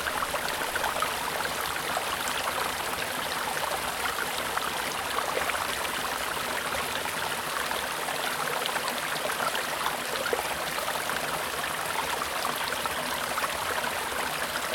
small stream running through the grounds 0.0 - 14.7

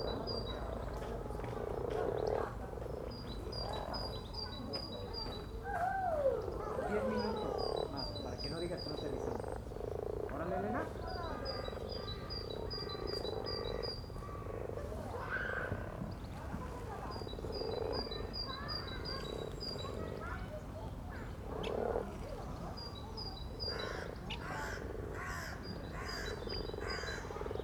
kids playing in the playground 0.0 - 8.8
mating frogs 0.0 - 20.4
kids playing in the playground 10.4 - 27.6
mating frogs 21.0 - 27.6

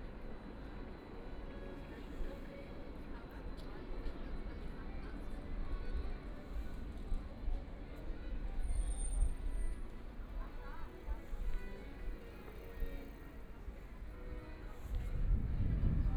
Streetcar 0.0 - 16.1
Tourists and pedestrians 0.0 - 16.1

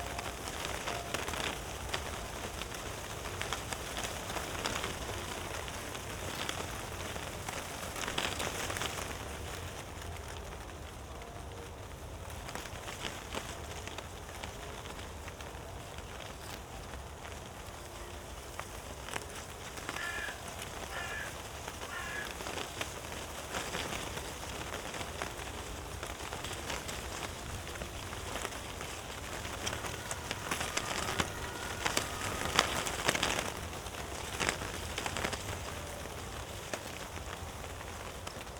paper stripes fluttering in the wind 0.0 - 38.5

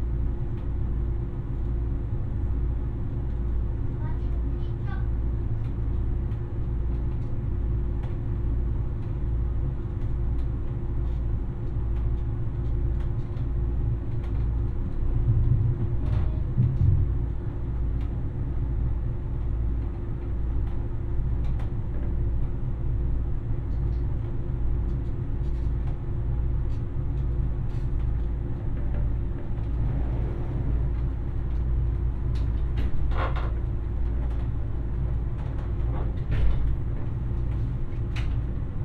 multiple things rattling and vibrating 27.7 - 38.8
engine drones 28.7 - 38.6

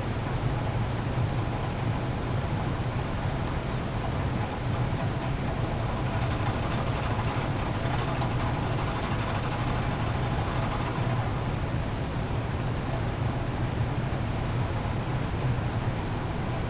mine shaft vent 4.8 - 11.6

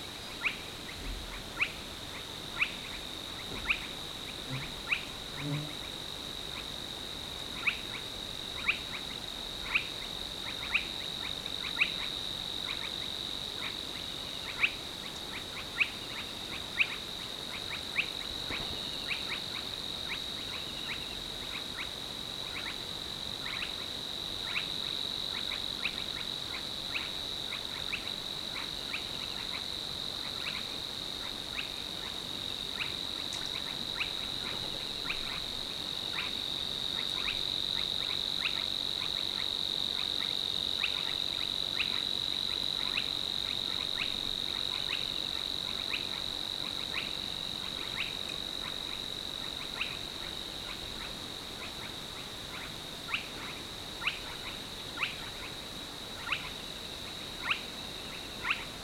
Savis warbler 3.6 - 5.9

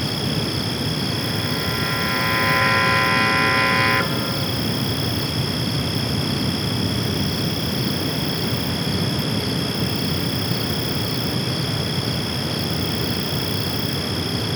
crickets 0.0 - 14.5
Mysterious alarm-like sound emanating from a water processing plant 1.1 - 5.1

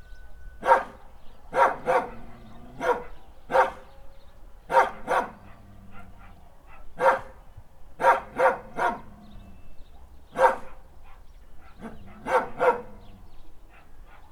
dog 0.6 - 3.8
dog 4.7 - 7.4
dog 8.0 - 9.1
dog 10.4 - 13.0
dog 13.7 - 14.3

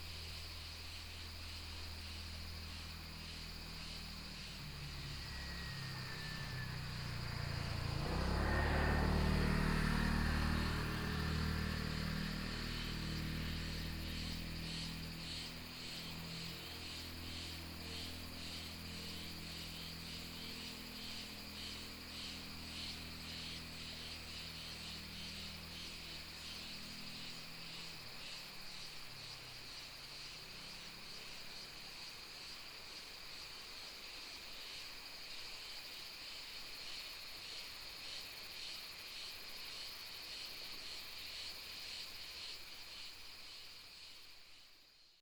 Traffic sound 0.0 - 31.8
Cicadas sound 0.0 - 45.2

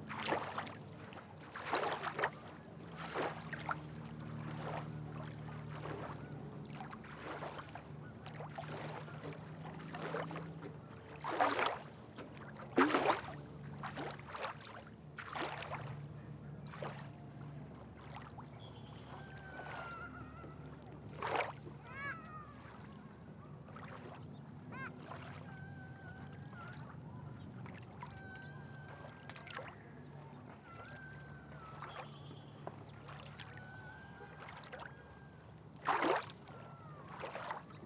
Waves hitting the boat ramp 0.0 - 37.8

